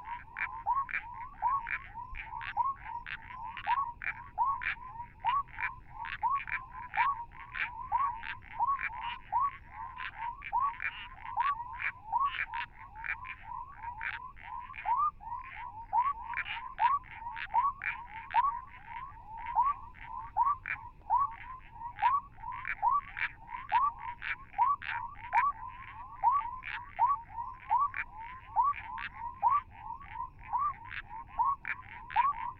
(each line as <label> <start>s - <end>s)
Frogs calling from burrows 0.0s - 32.5s